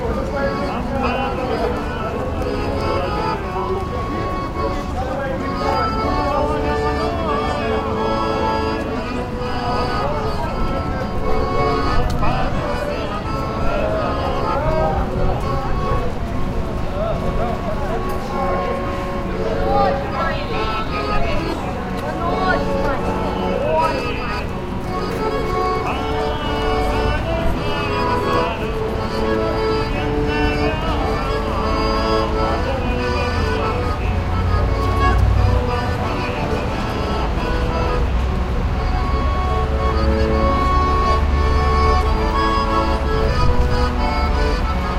busy street 0.0 - 44.9
distant street musician playing on harmonica 0.0 - 44.9

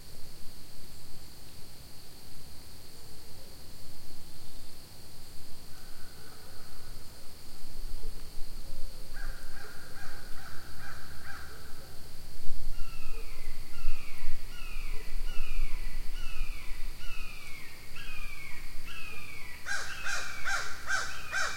insects 0.0 - 21.5
birds 12.8 - 21.5

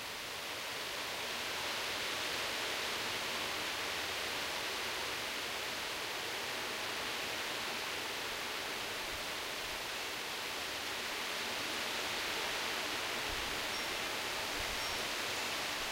calm light breeze 0.0 - 15.9
wind chimes 13.7 - 14.0
wind chimes 14.8 - 15.2

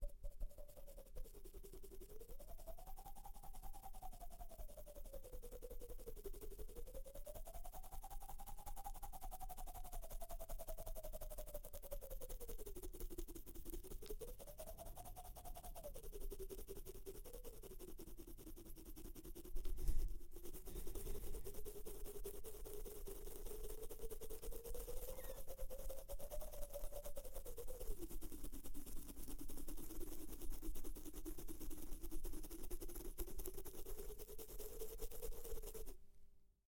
Scratching beard cheek with opened mouth 17.2 - 26.6

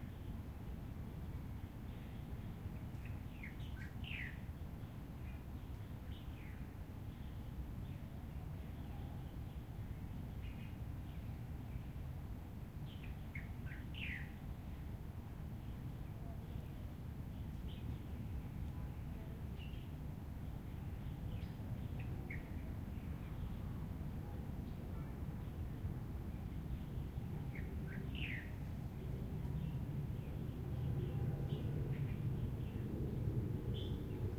plane 20.2 - 34.3

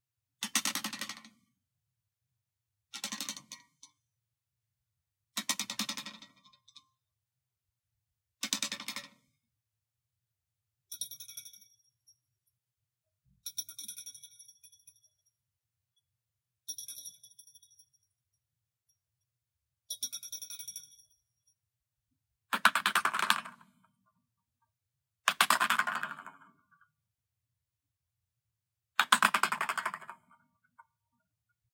landings of a metallic spring on wood, ceramic and cardboard 29.0 - 30.8

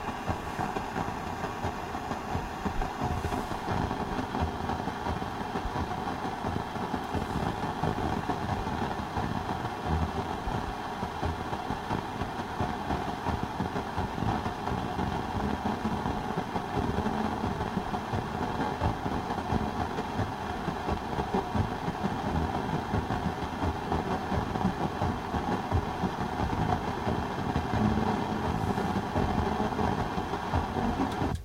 rhythmic radio static 0.0 - 31.4
drum beat 14.1 - 31.4

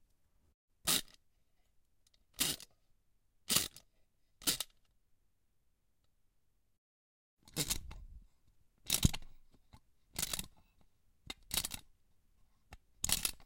little tin toy being winded up 10.2 - 10.5
little tin toy being winded up 11.4 - 11.8
little tin toy being winded up 13.0 - 13.4

